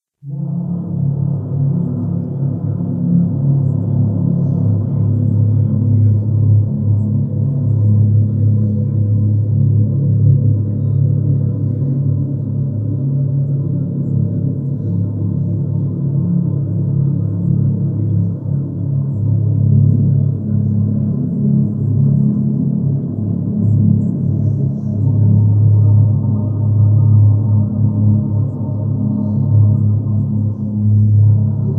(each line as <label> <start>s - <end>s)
low, watery tones 0.2s - 31.7s